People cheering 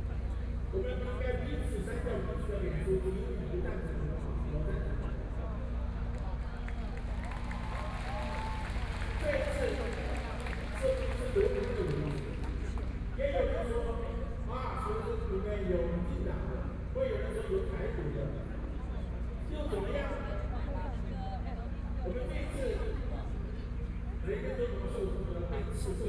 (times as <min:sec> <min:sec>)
0:06.2 0:12.9